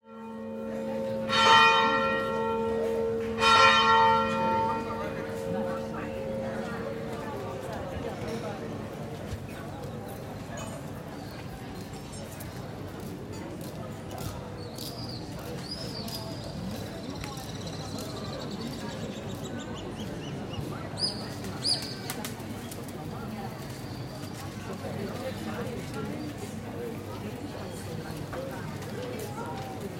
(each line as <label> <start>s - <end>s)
Church Tolling Bells 0.1s - 8.6s
People 0.1s - 29.9s